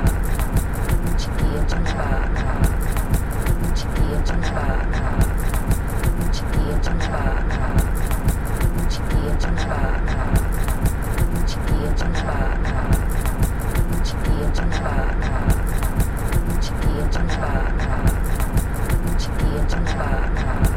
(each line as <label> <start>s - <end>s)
lite drums 0.0s - 1.7s
chanting 0.0s - 20.7s
lite drums 2.6s - 4.2s
lite drums 5.2s - 6.8s
lite drums 7.7s - 9.4s
lite drums 10.2s - 12.0s
lite drums 12.9s - 14.5s
lite drums 15.4s - 17.2s
lite drums 18.0s - 19.7s
lite drums 20.6s - 20.7s